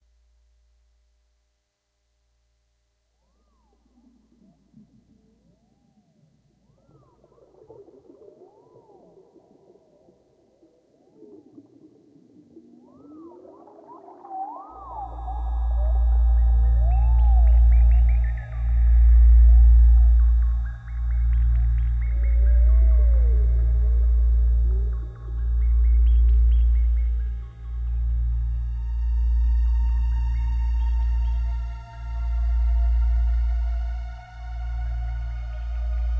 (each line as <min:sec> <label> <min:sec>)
0:03.0 forest ufo synthesizer 0:36.1